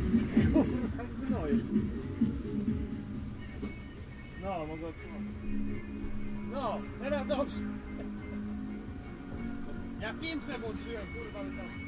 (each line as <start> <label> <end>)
0.0 music 11.8